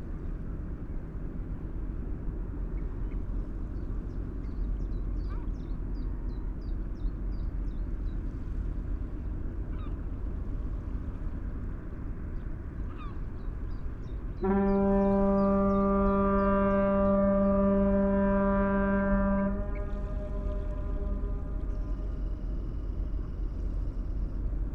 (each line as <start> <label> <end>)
13.5 Ship's fog horn 24.7